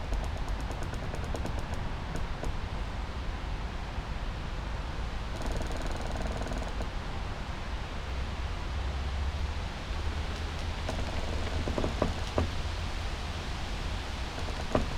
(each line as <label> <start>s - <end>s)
distant traffic hum 0.0s - 14.9s
winds 0.0s - 14.9s
creaks 10.3s - 12.8s
creaks 14.2s - 14.9s